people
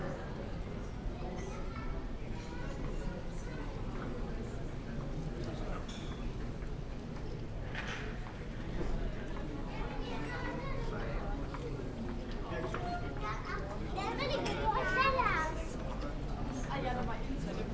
8.8s 17.7s

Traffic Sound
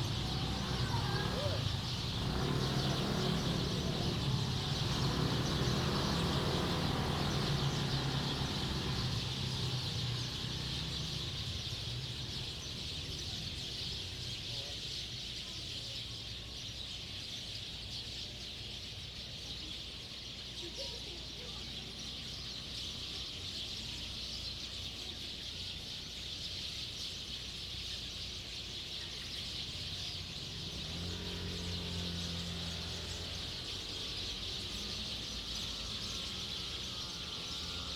0.0s 16.5s, 27.5s 37.9s

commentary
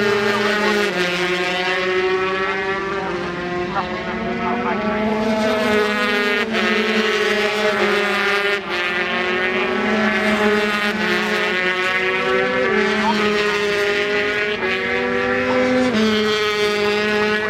0.1s 1.1s, 2.5s 5.2s, 12.7s 13.6s

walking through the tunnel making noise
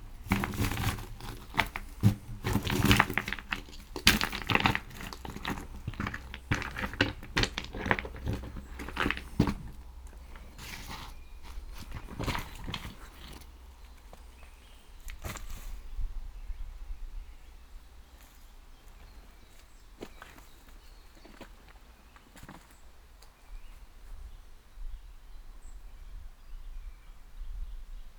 0.0s 13.5s

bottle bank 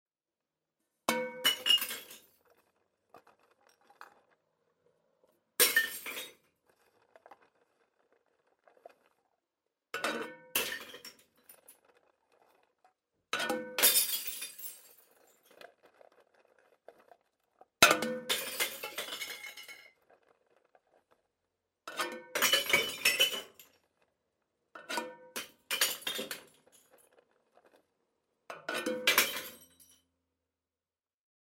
1.1s 4.4s, 5.6s 9.2s, 10.0s 21.1s, 21.9s 23.8s, 24.8s 27.8s, 28.5s 30.0s

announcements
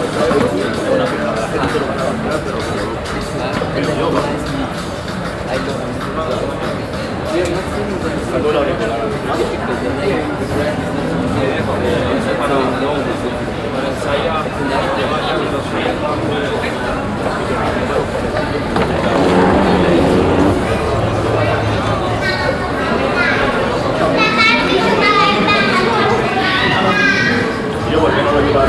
16.8s 26.4s

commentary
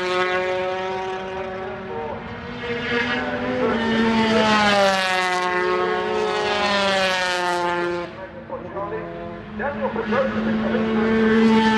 8.0s 11.4s

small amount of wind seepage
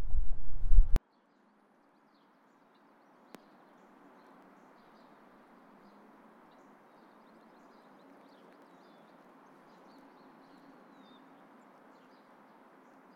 0.0s 1.0s

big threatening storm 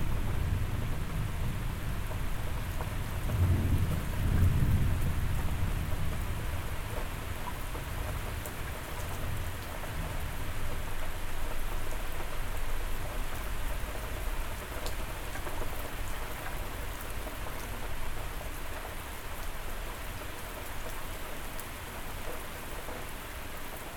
0.0s 7.2s

